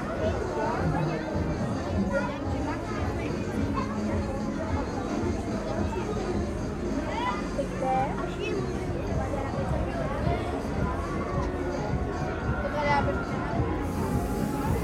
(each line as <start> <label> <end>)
0.0 carousel with horrible plastic music 14.8